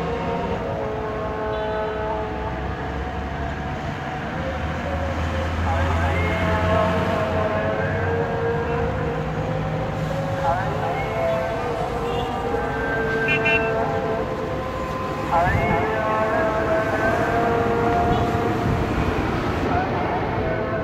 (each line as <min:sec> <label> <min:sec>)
0:00.0 muezzin is singing 0:20.8
0:00.0 traffic 0:20.8
0:13.2 people sound the horn 0:13.8
0:18.0 people sound the horn 0:18.4